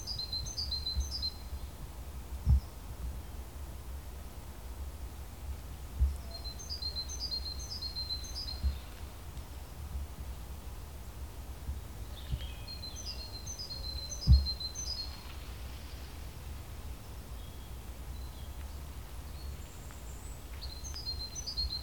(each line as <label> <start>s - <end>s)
Birds 11.7s - 21.8s